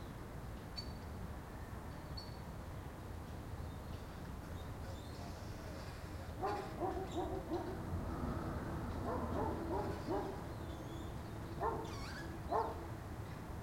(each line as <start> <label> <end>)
3.4 birds 13.0
4.8 plane 13.6
6.4 dog 7.8
9.0 dog 10.5
11.6 dog 12.8